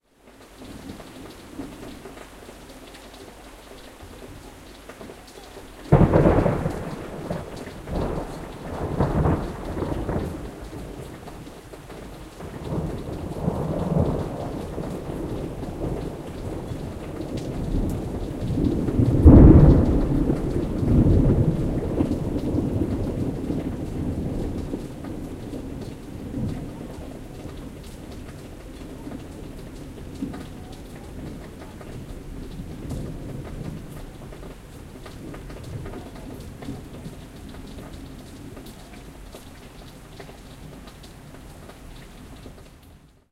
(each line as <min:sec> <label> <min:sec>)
0:00.0 rain 0:43.3
0:00.5 Lightning & Thunder 0:43.3